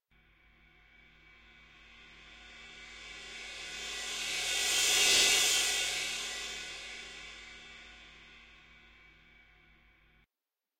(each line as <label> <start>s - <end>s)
Cymbal played with padded mallets 1.0s - 9.4s